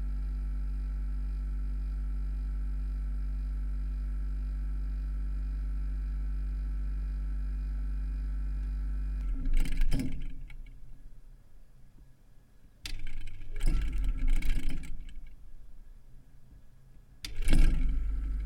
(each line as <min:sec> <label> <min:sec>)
0:08.6 Old soviet fridge 0:10.8
0:17.2 Old soviet fridge 0:18.4